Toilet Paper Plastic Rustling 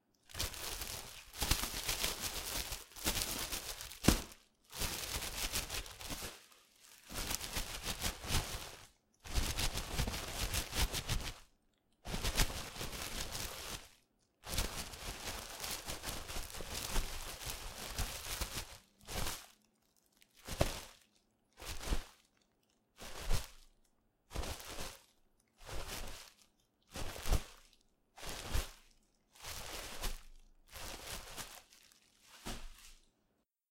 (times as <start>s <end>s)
0.3s 11.4s, 12.1s 22.2s, 28.2s 33.1s